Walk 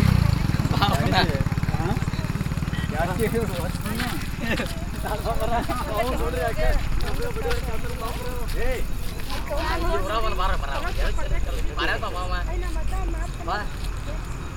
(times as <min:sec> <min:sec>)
0:03.0 0:14.4